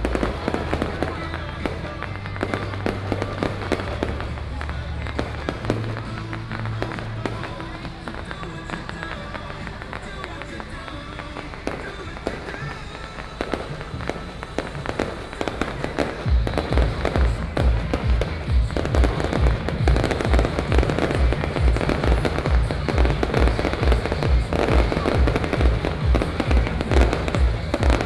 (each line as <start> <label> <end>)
0.0 firecrackers 28.0